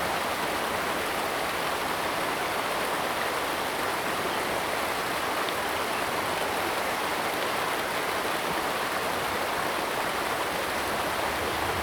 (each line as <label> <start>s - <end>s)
Stream sound 7.8s - 11.8s
Traffic Sound 10.1s - 11.8s
Aircraft flying through 10.2s - 11.8s